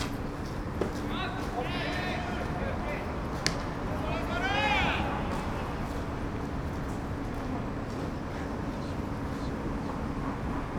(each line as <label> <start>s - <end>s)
baseball practice 0.0s - 6.1s